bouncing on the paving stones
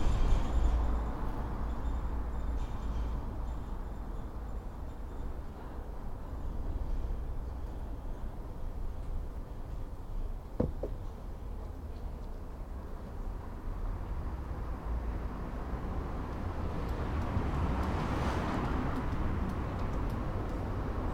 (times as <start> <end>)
10.6 11.2